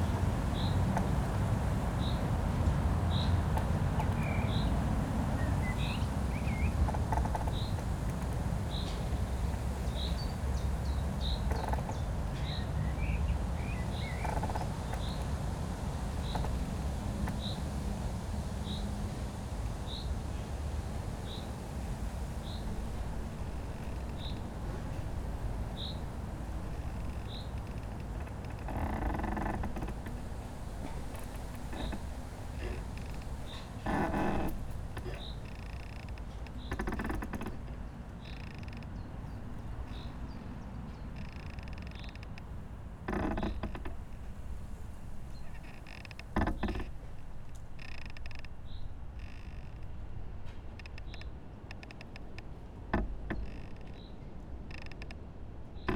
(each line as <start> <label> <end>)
0.0 Creaking tree in wind 55.9
0.0 wind blowing through the tree top 55.9